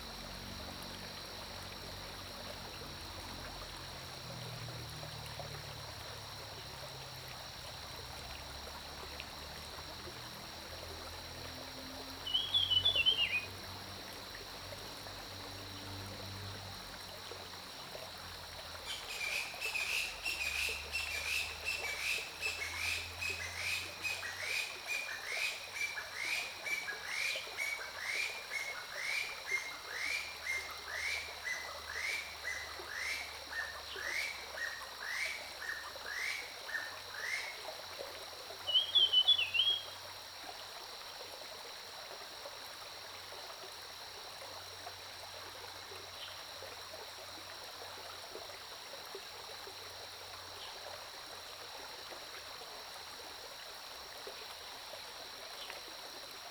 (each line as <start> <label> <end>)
0.0 Stream 56.5
12.3 Bird calls 13.5
38.7 Bird calls 39.9